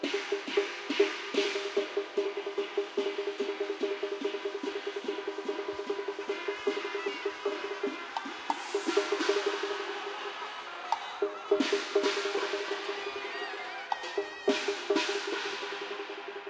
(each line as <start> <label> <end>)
0.0 ritual music using chinese musical instruments 16.4
3.7 crowd was amazed 16.4